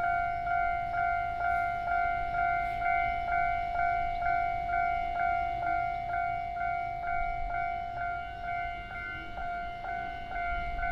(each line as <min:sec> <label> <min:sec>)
0:00.0 train traveling through 0:10.9